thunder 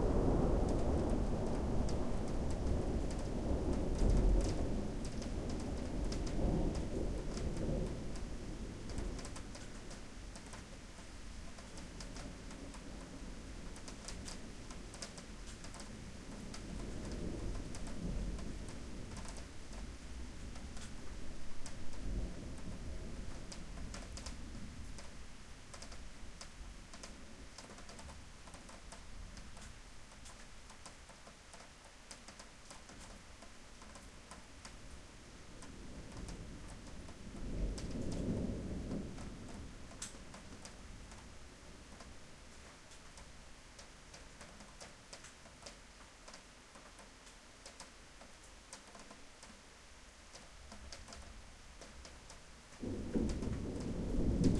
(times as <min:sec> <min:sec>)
0:00.0 0:10.7, 0:15.5 0:25.1, 0:35.6 0:41.3, 0:52.8 0:54.5